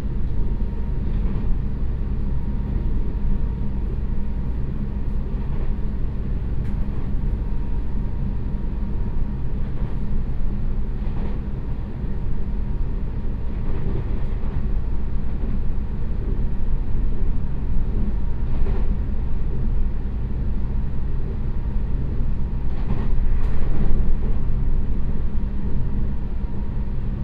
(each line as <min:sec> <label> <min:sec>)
0:00.0 Train compartment 0:27.2